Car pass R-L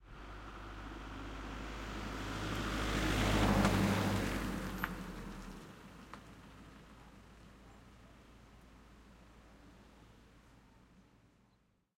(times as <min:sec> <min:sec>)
0:00.0 0:07.5